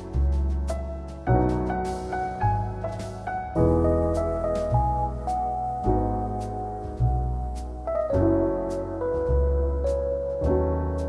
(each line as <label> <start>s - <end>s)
drum 0.0s - 7.6s
electric piano 0.0s - 11.0s
upright bass 0.0s - 11.0s